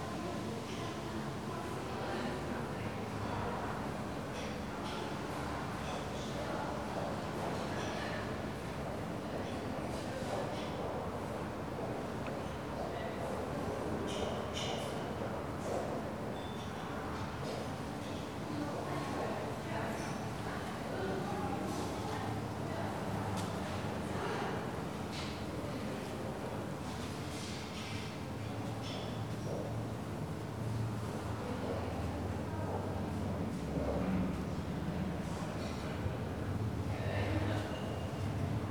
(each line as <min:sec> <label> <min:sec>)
0:00.0 hum of a AC unit 0:38.7